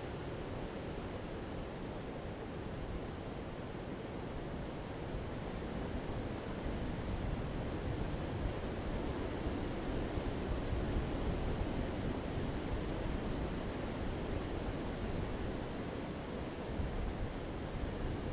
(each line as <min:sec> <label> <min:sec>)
0:00.0 strong wind in the forest rear 0:18.3